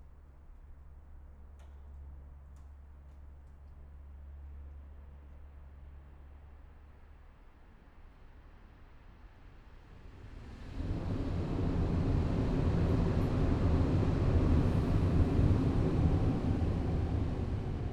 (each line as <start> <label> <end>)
10.0 trains passing by 17.9